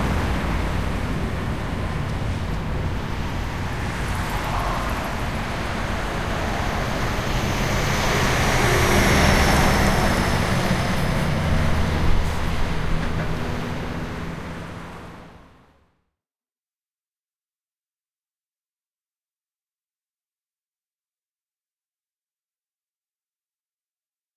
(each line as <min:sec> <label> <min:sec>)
0:00.0 traffic 0:16.0